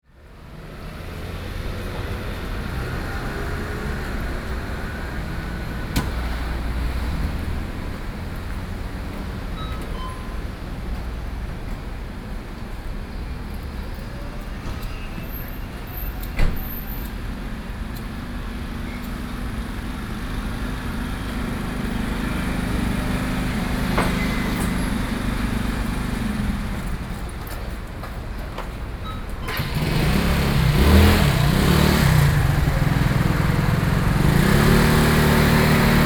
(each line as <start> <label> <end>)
0.1 cars coming and going 36.0
1.0 store automatic doors 36.0